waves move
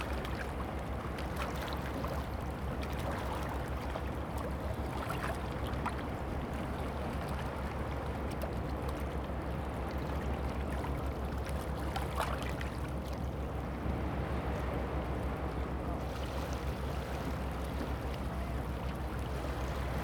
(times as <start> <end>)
11.5 20.0